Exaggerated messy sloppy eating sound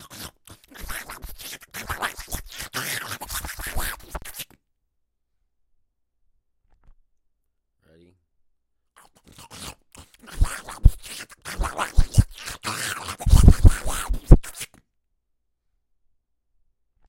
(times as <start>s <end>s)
0.0s 4.5s, 9.0s 14.8s